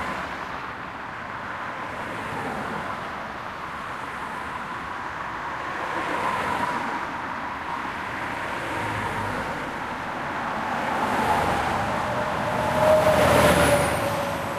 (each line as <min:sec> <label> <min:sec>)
0:00.0 Cars passing in both directions 0:14.5